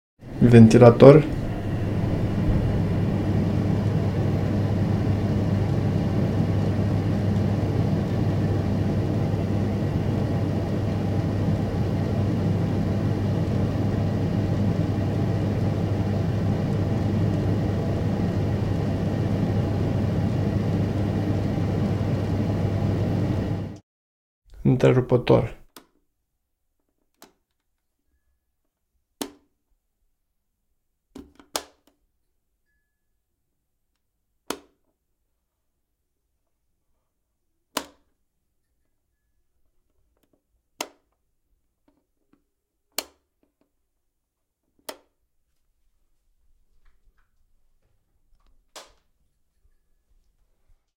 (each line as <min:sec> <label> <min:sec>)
0:00.2 fan 0:23.8